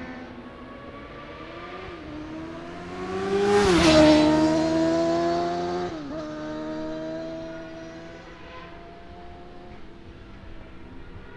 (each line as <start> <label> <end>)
0.0 motorcycle road racing 11.3